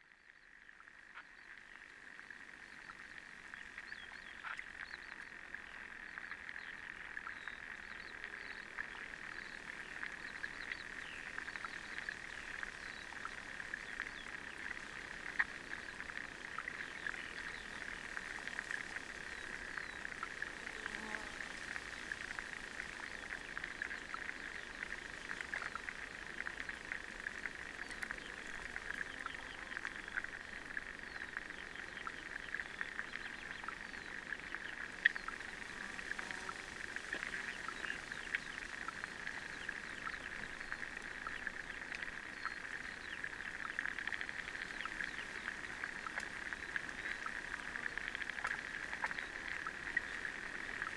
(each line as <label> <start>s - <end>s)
little pond 0.0s - 50.9s